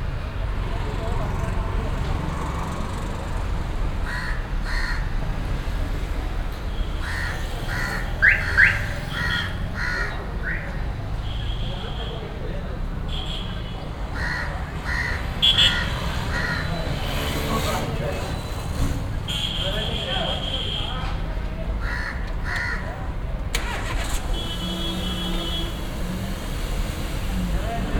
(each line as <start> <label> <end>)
0.0 traffic at a small street crossing 27.9